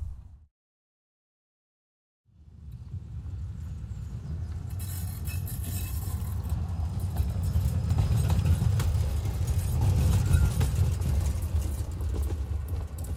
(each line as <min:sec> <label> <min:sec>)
0:02.4 tram on the turn 0:13.1
0:03.9 Brakes squeals 0:08.6